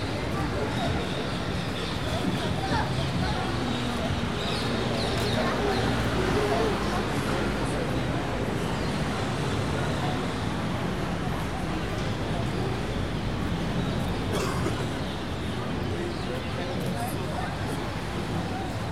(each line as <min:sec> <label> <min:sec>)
0:00.0 People Talk 0:18.9